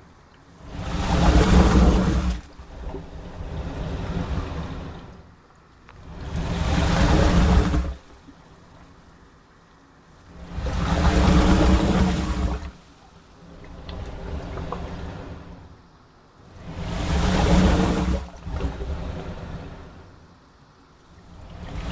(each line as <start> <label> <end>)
0.0 wave action under a crude concrete wharf 21.9